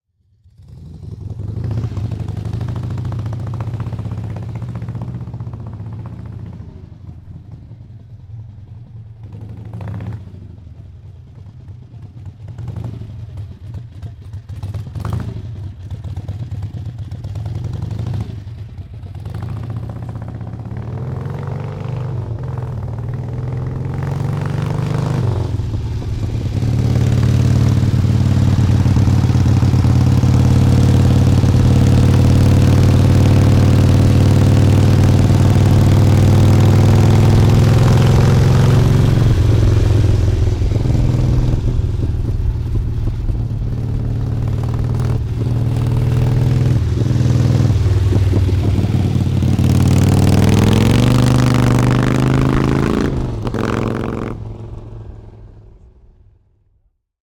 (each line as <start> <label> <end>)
0.1 Motorcycle 57.1